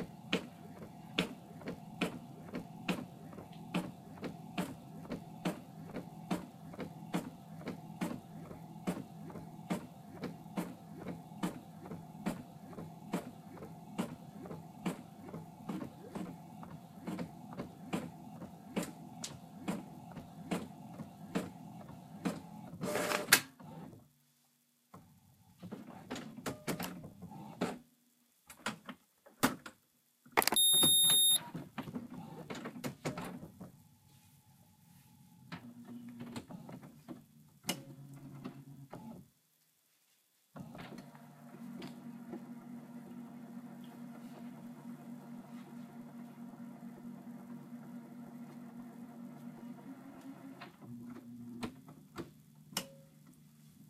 0.0s printer 24.0s
25.6s printer 27.8s
30.4s beep 31.4s
30.5s printer 33.7s
35.5s printer 39.3s
40.6s printer 53.0s

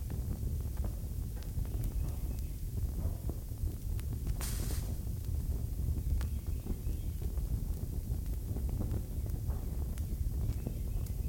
0.0s Torch Crackle 11.2s

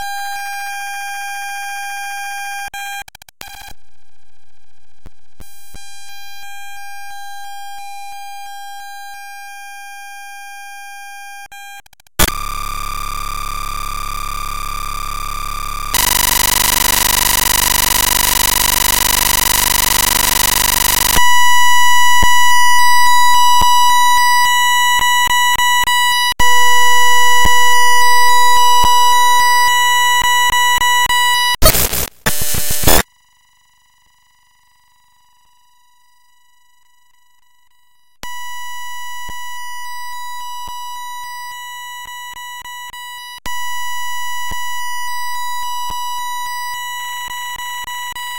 11.9s noise 33.5s

